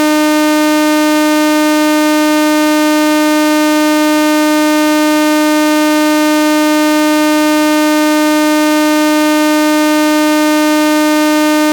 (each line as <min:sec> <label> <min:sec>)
0:00.0 Osc1 Saw 880hz 0:11.7